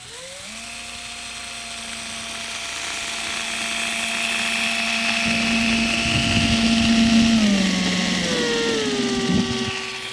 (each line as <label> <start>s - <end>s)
Drill getting closer 0.0s - 10.1s